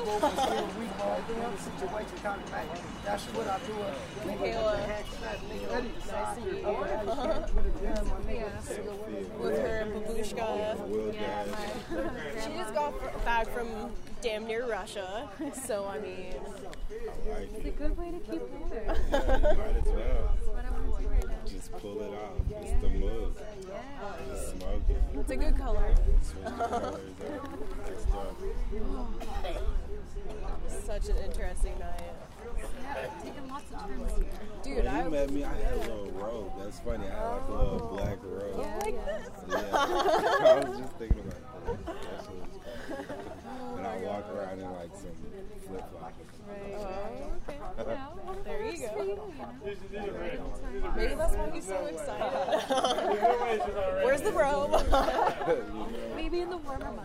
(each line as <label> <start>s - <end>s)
individuals talk 0.0s - 57.0s